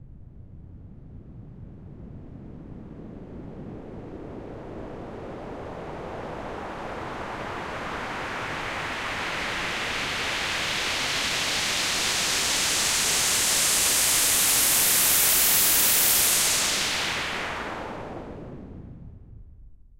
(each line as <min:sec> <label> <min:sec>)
0:06.4 white noise sweep 0:19.3